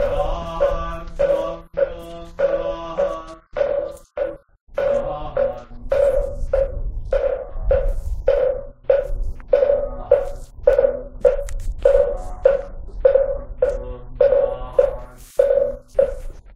0.0s Buddhist monk chanting 16.5s

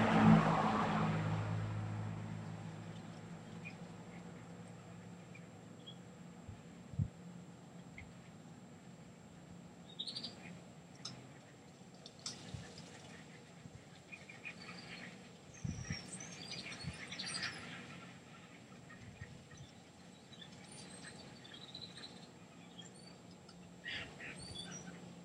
0.0s cars 5.6s
2.4s birds 6.3s
9.7s birds 25.2s

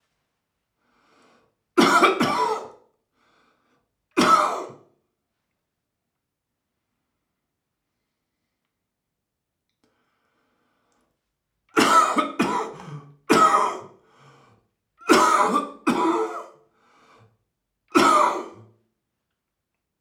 1.8s Wheezy cough 2.9s
4.2s Wheezy cough 4.9s
11.8s Wheezy cough 14.0s
15.0s Wheezy cough 16.7s
17.9s Wheezy cough 18.7s

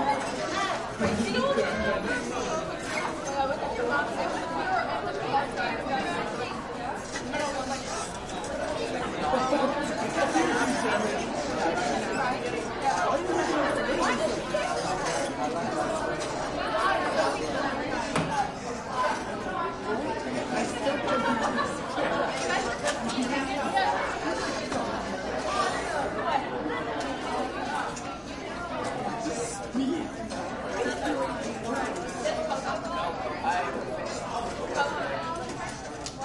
0.0s crowd 36.2s

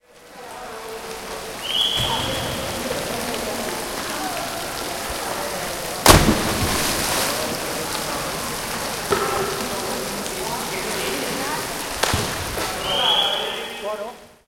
5.9s dive from 10 mt platform 8.9s

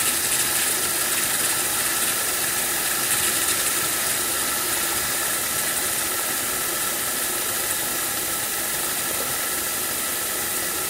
0.0s Tap water running with economizer 10.8s
0.0s tube gurgling when turned off 7.5s

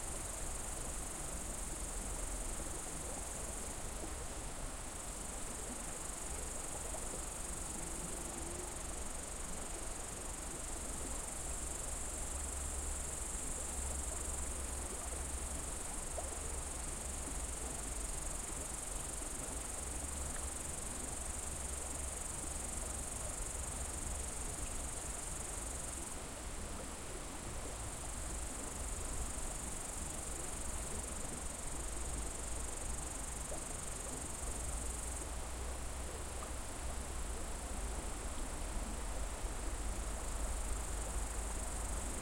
0.0s crickets 42.2s
0.0s river 42.2s

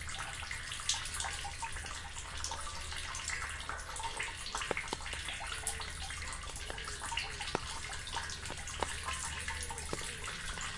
0.0s Drip-drop on my umbrella 10.7s
0.0s rain water flowing down the drain 10.7s

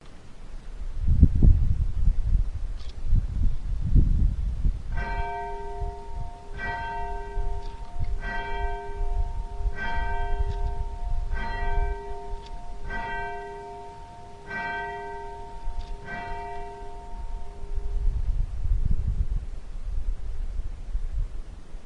5.0s Bell chimes 18.0s

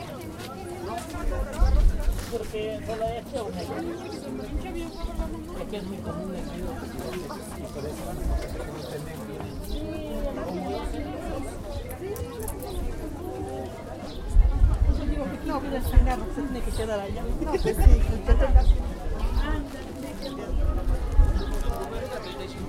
0.0s people 22.6s

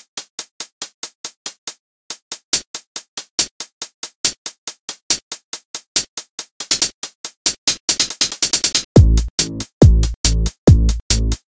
0.0s Drum loop 11.4s

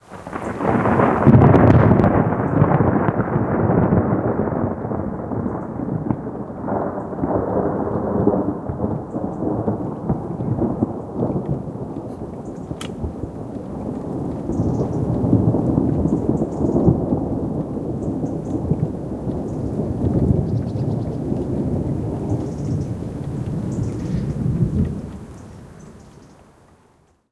0.1s Thunder 26.2s

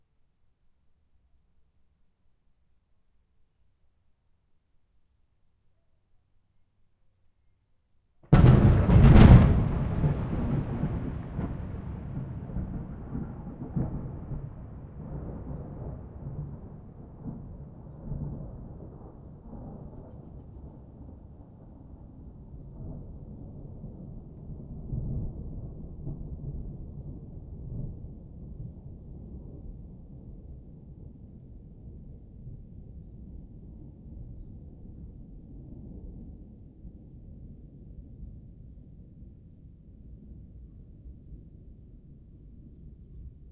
8.3s Single huge clap of thunder 14.6s

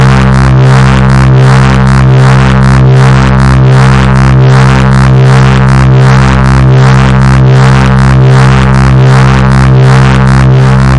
0.0s Driven reece bass 10.9s

